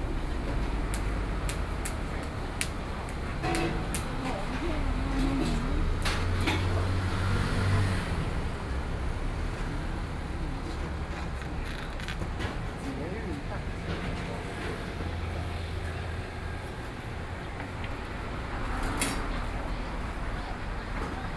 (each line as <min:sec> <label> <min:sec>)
0:00.0 Traffic Sound 0:21.3